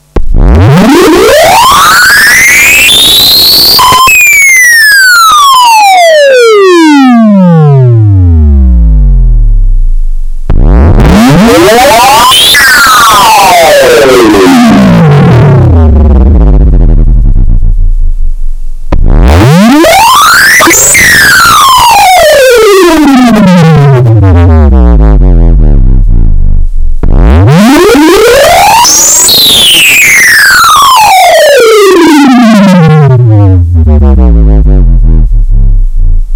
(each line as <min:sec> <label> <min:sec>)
0:00.0 distorted sweep 0:36.3
0:24.0 deep basses at the end of each sweet 0:27.5
0:33.4 deep basses at the end of each sweet 0:36.3